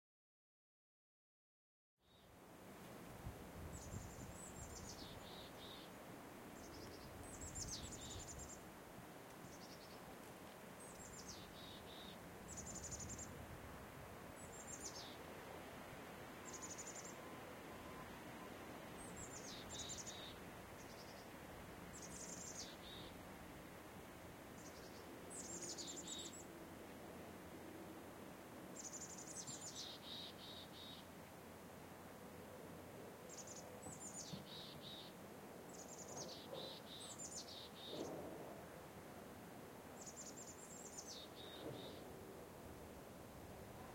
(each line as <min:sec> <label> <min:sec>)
0:02.0 Light wind 0:43.9
0:03.7 birds 0:06.0
0:06.6 birds 0:08.6
0:09.3 birds 0:13.4
0:14.3 birds 0:15.2
0:16.4 birds 0:21.3
0:21.9 birds 0:23.2
0:24.6 birds 0:26.5
0:28.8 birds 0:31.1
0:33.2 birds 0:38.4
0:40.0 birds 0:42.2